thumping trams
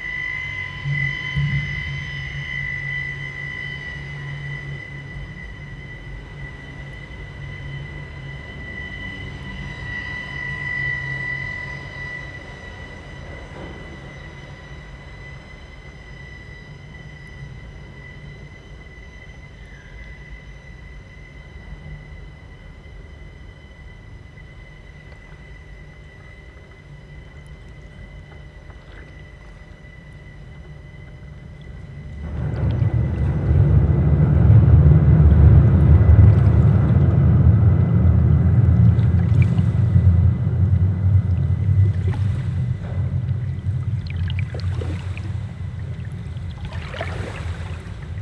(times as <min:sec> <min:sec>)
0:00.0 0:20.6, 0:30.8 0:48.2